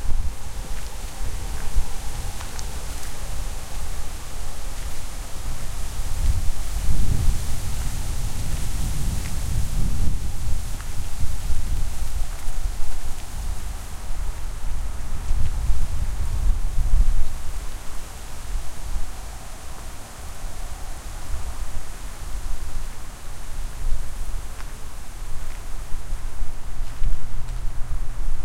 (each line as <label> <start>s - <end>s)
strong wind 0.0s - 28.4s
footsteps 24.6s - 27.8s